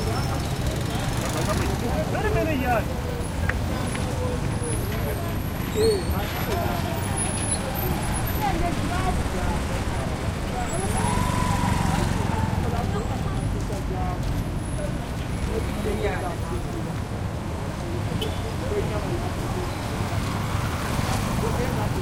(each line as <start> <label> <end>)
0.0 throaty cars 15.8
0.0 motorcycles 22.0
0.0 people 22.0